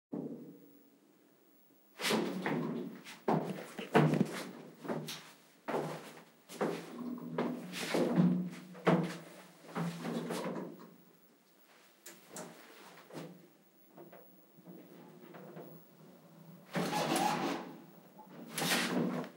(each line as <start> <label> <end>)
2.2 Walking on Metal Floor 10.8